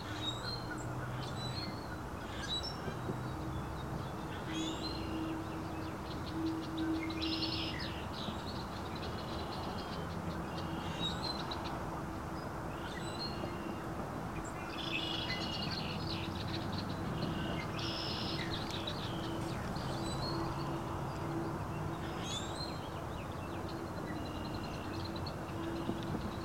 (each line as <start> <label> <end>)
12.4 songbirds call to each other 26.4